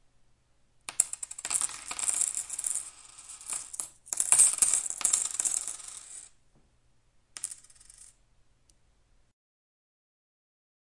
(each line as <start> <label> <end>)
0.9 coins falling onto a wooden table 6.4
7.4 coins falling onto a wooden table 8.2